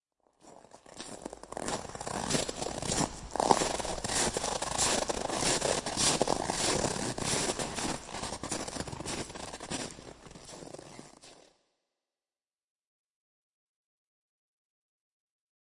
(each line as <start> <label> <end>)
0.4 Walking on snow 11.4